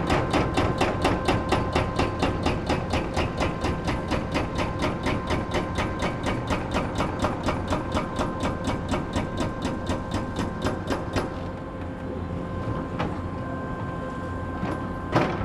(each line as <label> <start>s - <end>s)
noise of different excavators 0.0s - 15.4s